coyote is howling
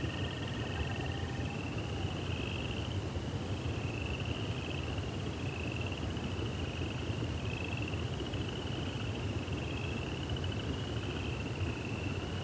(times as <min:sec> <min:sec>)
0:00.0 0:02.7